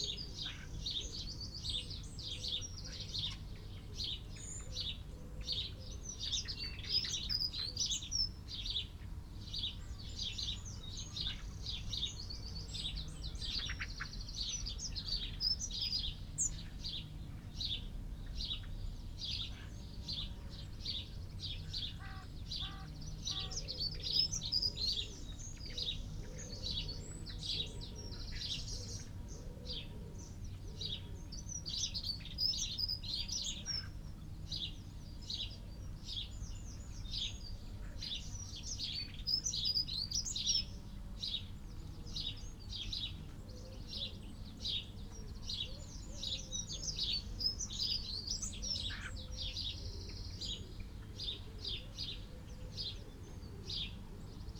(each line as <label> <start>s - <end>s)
blackbird 0.0s - 54.5s
collared dove 21.5s - 34.0s
crow 22.0s - 23.8s
crow 48.8s - 49.2s